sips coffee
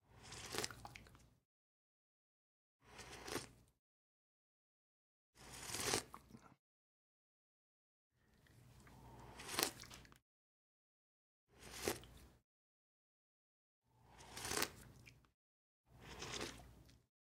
0.1 1.2, 2.8 3.7, 5.4 6.6, 8.3 10.2, 11.5 12.3, 14.0 15.2, 16.0 17.0

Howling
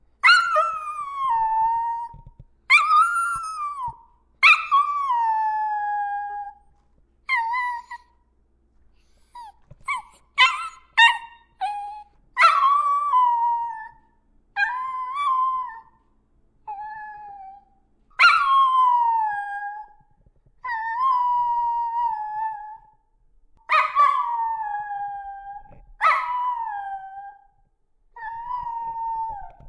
16.7 23.1, 24.0 27.6, 28.2 29.6

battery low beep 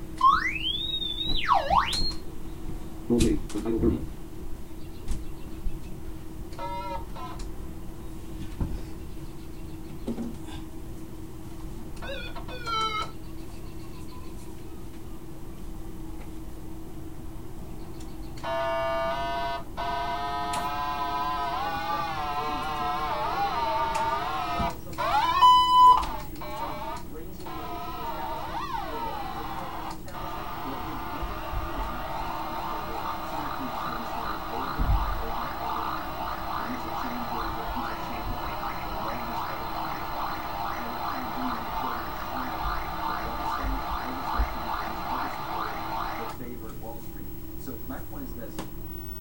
0.2 2.2

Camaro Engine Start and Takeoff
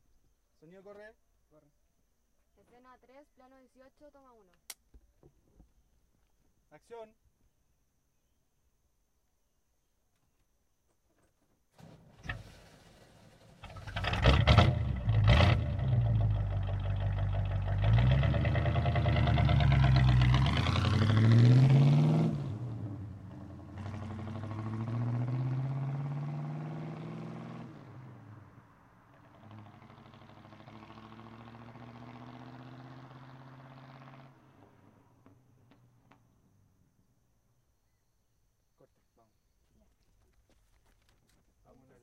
11.7 37.1

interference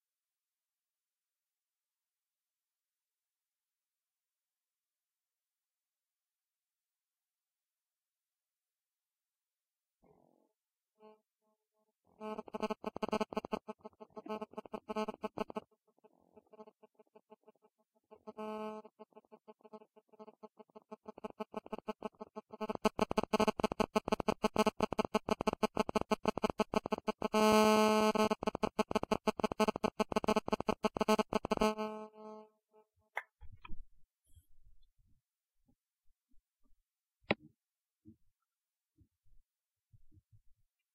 12.2 15.6, 18.2 32.4

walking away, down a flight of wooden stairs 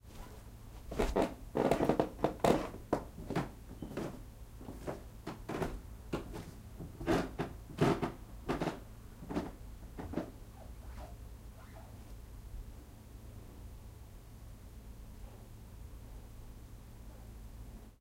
0.0 10.4

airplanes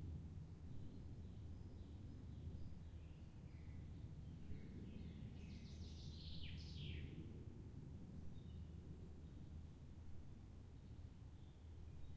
7.0 10.6

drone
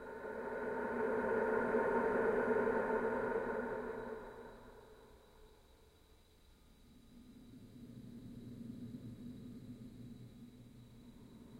0.0 5.4

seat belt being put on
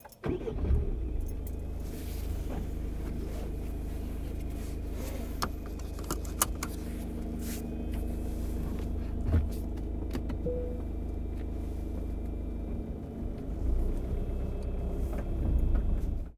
1.8 9.8

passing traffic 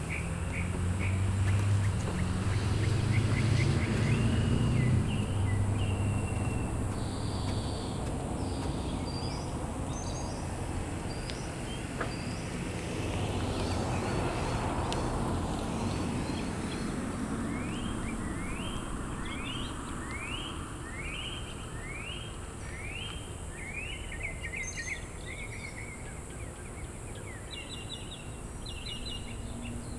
0.0 21.8

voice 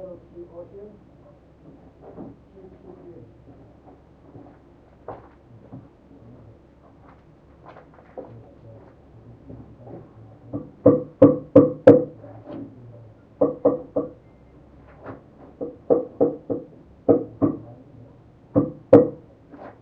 0.0 1.4, 2.5 3.4, 8.2 10.7, 12.2 13.2, 17.4 18.2

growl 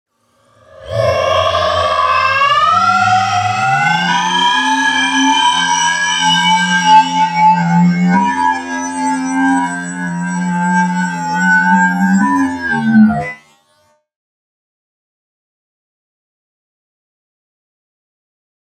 0.4 5.1

